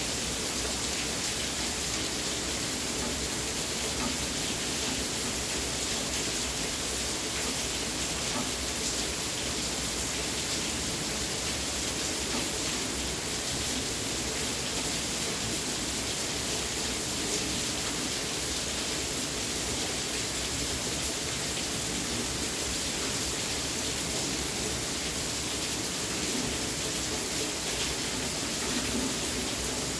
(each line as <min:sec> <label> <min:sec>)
0:00.0 rain 0:29.9